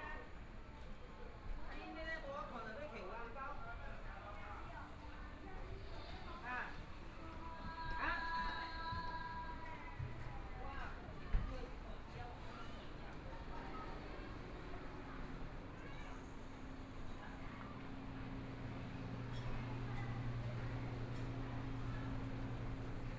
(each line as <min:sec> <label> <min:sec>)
0:00.0 Walking through the small streets 0:23.1